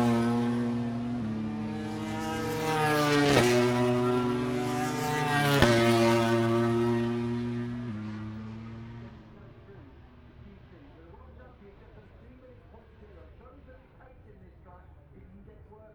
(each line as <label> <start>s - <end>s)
motorcycle grand prix 0.0s - 15.9s